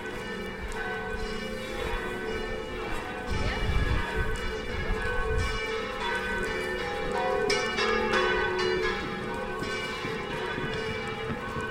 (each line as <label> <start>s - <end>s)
Angelus bells 0.0s - 11.7s